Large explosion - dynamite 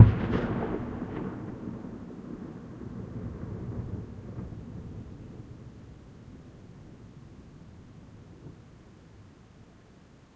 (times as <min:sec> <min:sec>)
0:00.0 0:04.8